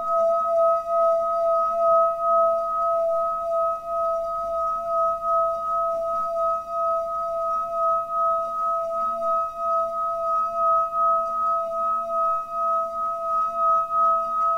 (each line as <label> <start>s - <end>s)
singing bowl played with the wood part of the mallet 0.0s - 14.5s